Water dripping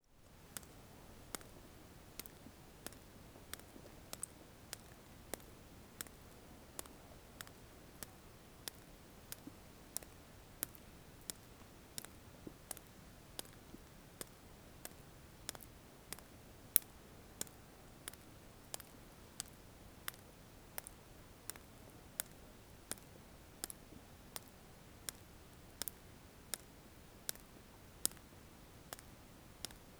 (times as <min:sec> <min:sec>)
0:02.2 0:20.2